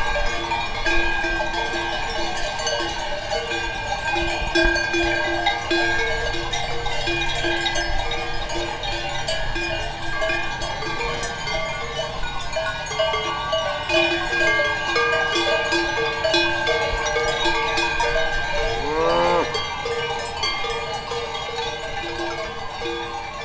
Cowbells 0:00.0 - 0:23.4

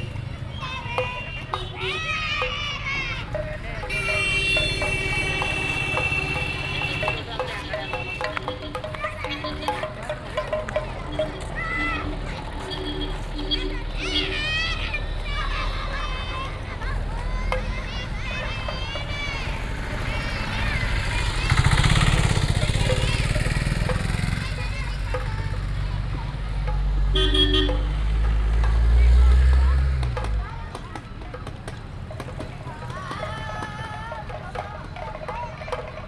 Children 0:00.0 - 0:36.0
percussions 0:00.0 - 0:36.0
horns 0:03.9 - 0:08.6
horns 0:27.1 - 0:28.0

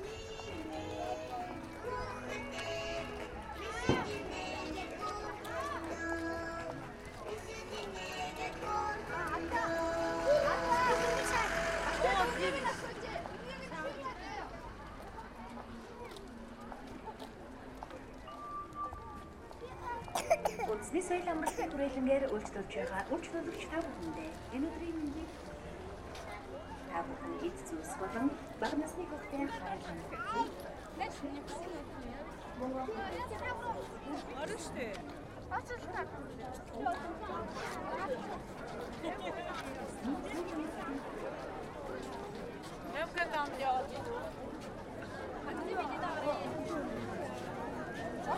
everyone is walking 0:00.0 - 0:48.3

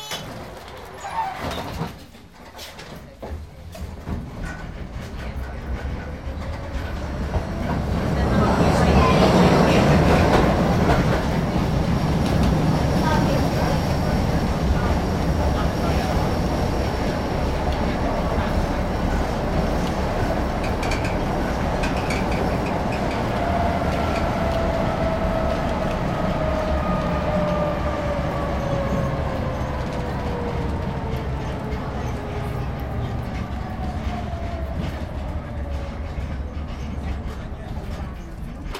city tram 0:00.0 - 0:38.7
background conversations 0:01.6 - 0:38.7

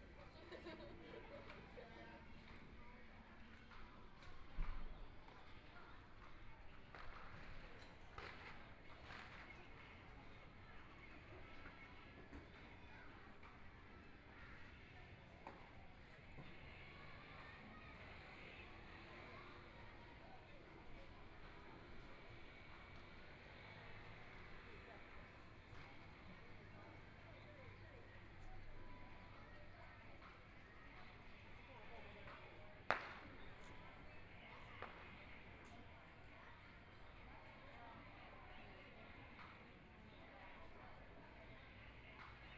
firecrackers 0:06.3 - 0:10.3
firecrackers 0:32.1 - 0:35.7

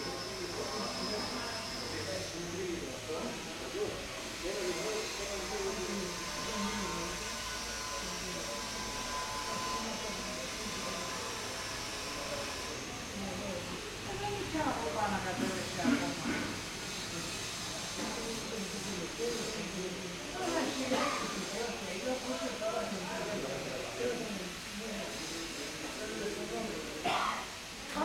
People are talking 0:00.0 - 0:28.0
drill 0:00.0 - 0:02.5
drill 0:04.2 - 0:13.0

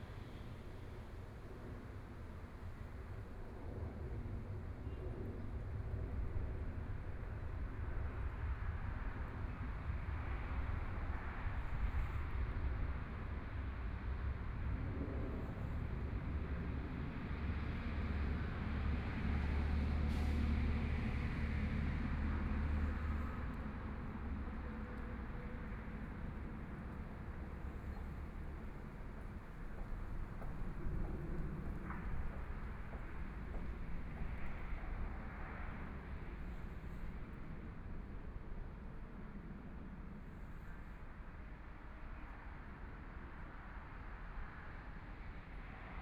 Traffic Sound 0:13.4 - 0:38.9
walking on the road 0:20.2 - 0:37.2

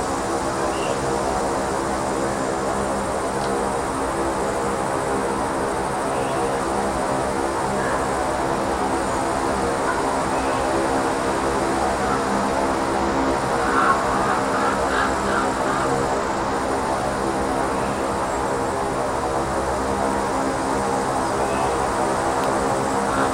natural drone 0:00.0 - 0:23.3

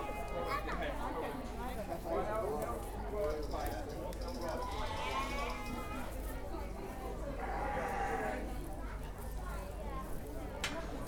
sheep 0:04.5 - 0:06.0
sheep 0:07.4 - 0:08.5

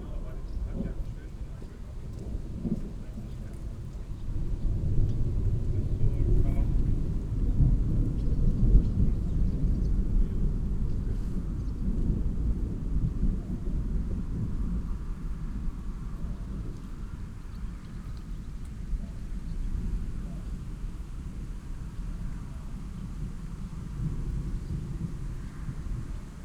thunderstorm arrives 0:00.0 - 0:17.4

